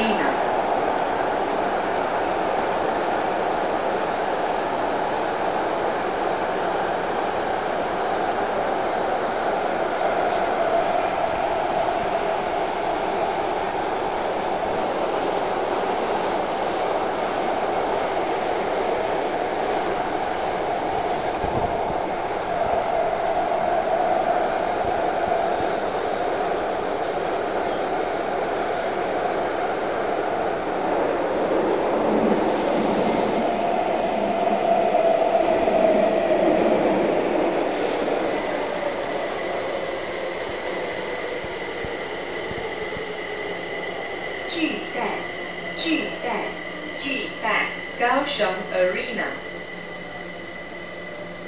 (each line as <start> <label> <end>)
0.0 Subway 51.4